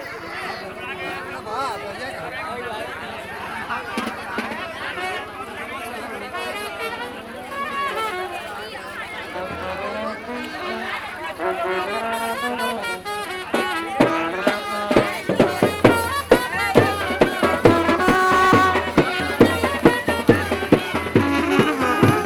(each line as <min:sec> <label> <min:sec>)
0:00.0 wedding procession 0:22.2